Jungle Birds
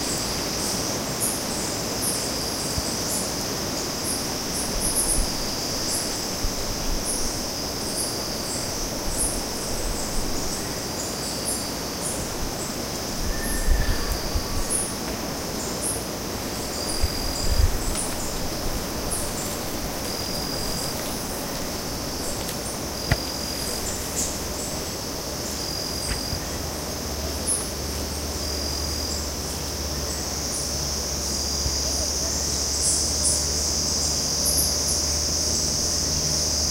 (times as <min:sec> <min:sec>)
0:07.9 0:36.7